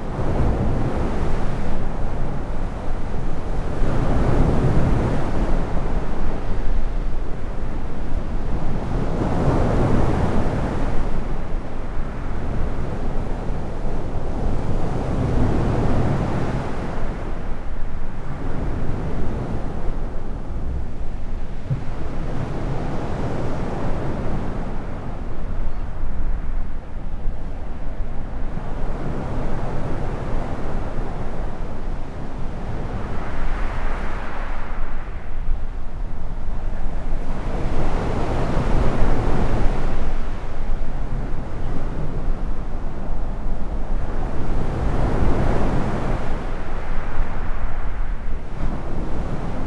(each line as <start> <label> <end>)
8.5 gently breaking waves 49.6